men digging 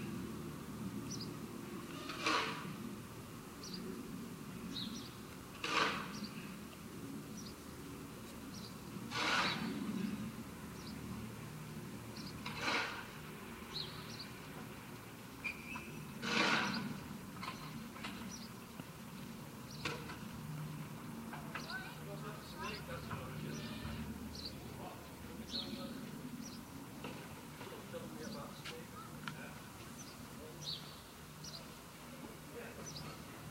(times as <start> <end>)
1.9 2.9, 5.5 6.3, 9.0 10.3, 12.3 13.6, 15.7 18.3